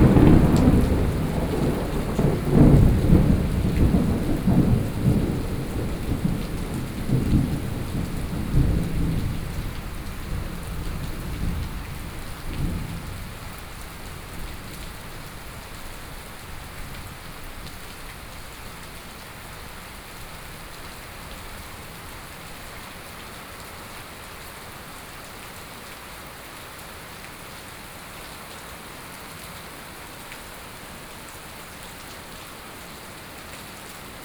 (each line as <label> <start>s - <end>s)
Thunderstorm 0.0s - 17.8s